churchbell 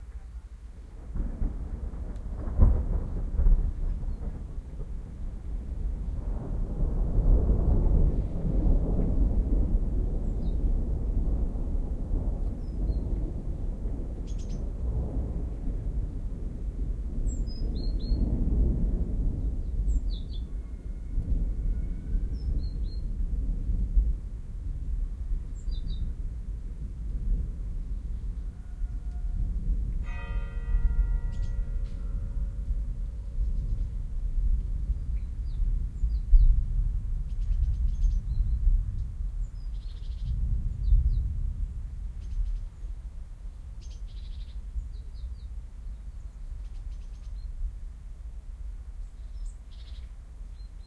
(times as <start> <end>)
30.0 33.7